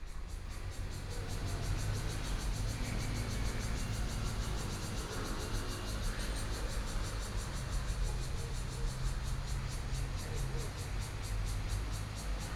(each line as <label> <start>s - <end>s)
Cicadas sound 0.0s - 12.5s